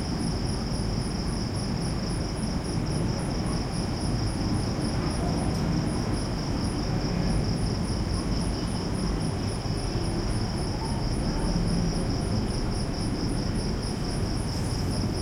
0.0s close heavy crickets 15.2s
2.7s traffic 15.2s

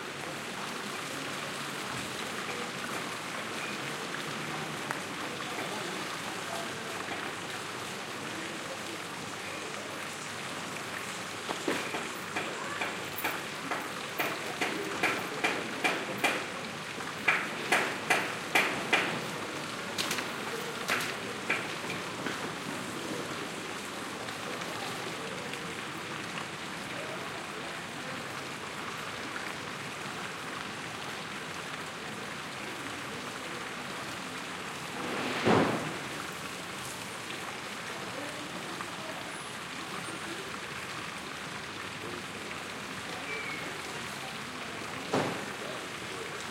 0.0s streetnoise 46.5s
0.0s water in the fountain quietly keeps running 46.5s
11.4s restaurants take out the tables and parasols 16.5s
17.3s restaurants take out the tables and parasols 22.9s
34.8s restaurants take out the tables and parasols 36.5s
45.1s restaurants take out the tables and parasols 45.6s

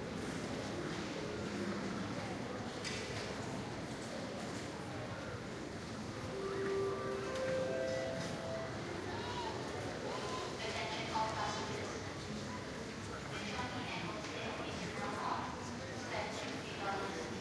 0.0s various conversations in the crowd 17.4s
6.1s announcements 9.8s

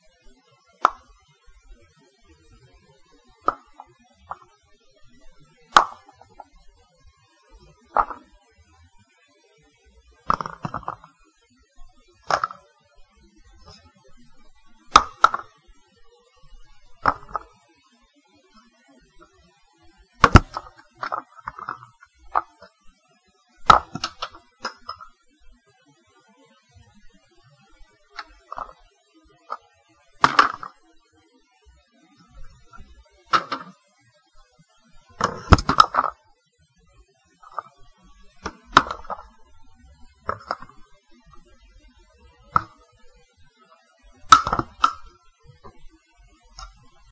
3.5s dropping a toilet paper dowel 3.8s
5.8s dropping a toilet paper dowel 6.2s
8.0s dropping a toilet paper dowel 8.2s
10.3s dropping a toilet paper dowel 11.1s
12.3s dropping a toilet paper dowel 12.6s
14.9s dropping a toilet paper dowel 15.5s
17.0s dropping a toilet paper dowel 17.5s
20.2s dropping a toilet paper dowel 22.6s
23.7s dropping a toilet paper dowel 25.1s
30.2s dropping a toilet paper dowel 30.7s
32.7s dropping a toilet paper dowel 33.7s
35.2s dropping a toilet paper dowel 36.1s
38.4s dropping a toilet paper dowel 39.3s
40.3s dropping a toilet paper dowel 40.8s
44.3s dropping a toilet paper dowel 45.8s

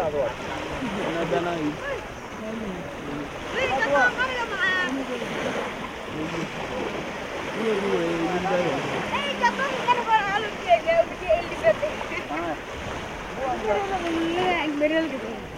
0.0s fishermen 15.5s

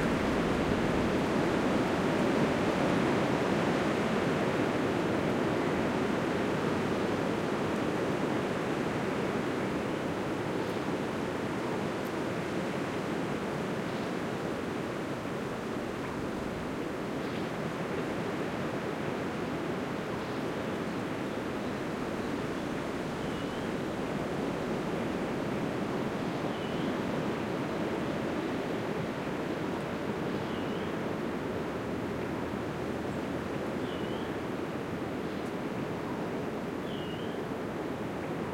0.0s wind 38.5s
21.6s birdsong 23.8s
26.5s birdsong 27.0s
30.3s birdsong 31.0s
33.1s birdsong 34.4s
36.8s birdsong 37.5s

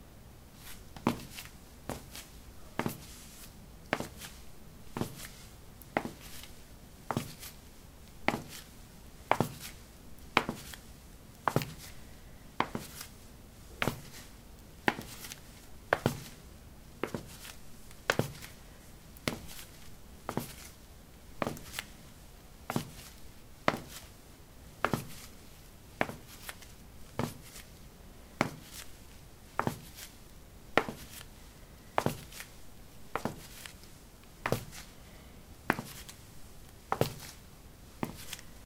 34.4s footsteps 34.9s
35.7s footsteps 36.2s
38.0s footsteps 38.6s

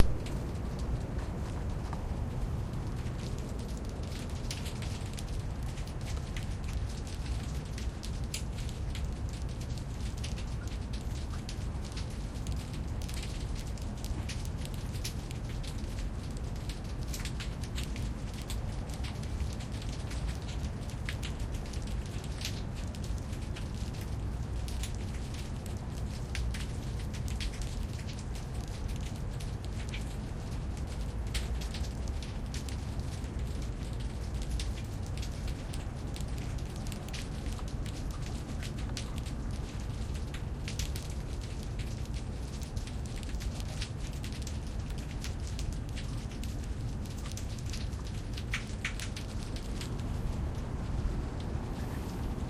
0.0s Small shelled invertebrates make a popping sound 0.5s

